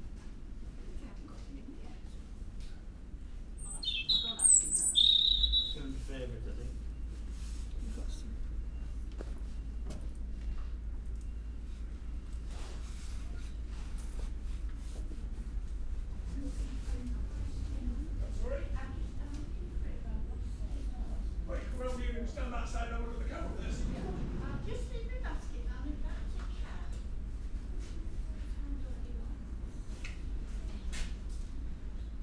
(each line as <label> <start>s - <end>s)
voices 3.6s - 9.2s
resident robin singing 3.6s - 6.0s
voices 16.1s - 31.2s